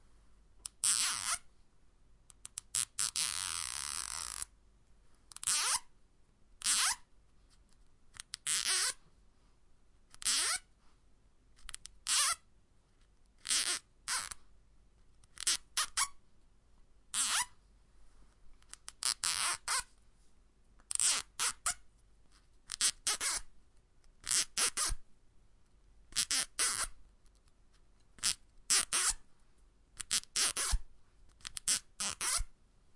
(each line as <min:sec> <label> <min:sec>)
0:02.3 Small-sized cable ties being closed at different speeds 0:04.5
0:22.7 Small-sized cable ties being closed at different speeds 0:23.4
0:26.1 Small-sized cable ties being closed at different speeds 0:29.2
0:30.0 Small-sized cable ties being closed at different speeds 0:32.5